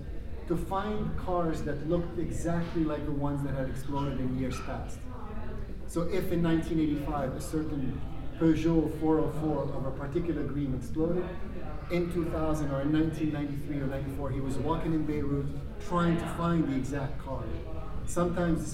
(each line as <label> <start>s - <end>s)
artist talk/tour 0.0s - 18.7s